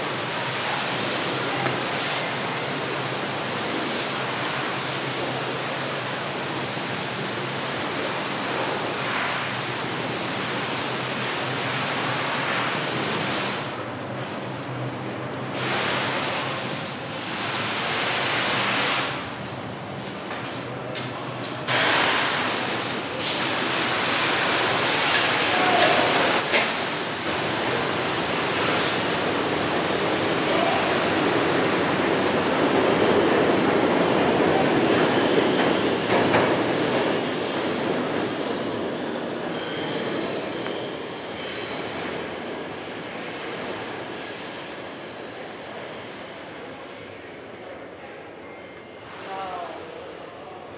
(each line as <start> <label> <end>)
0.0 workers clean the subway floors and stairs 50.7